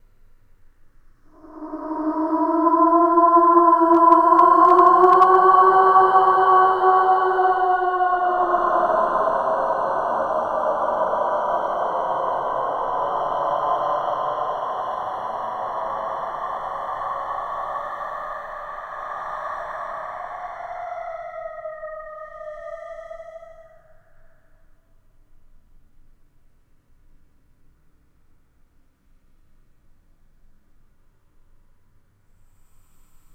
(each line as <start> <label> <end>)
1.3 moaning ghost 24.4